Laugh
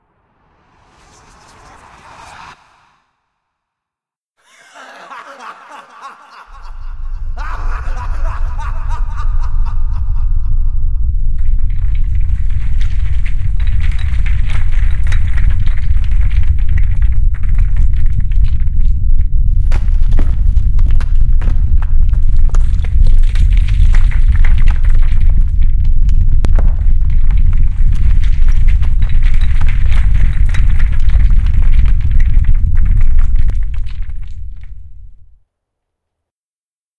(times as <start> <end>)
4.4 10.5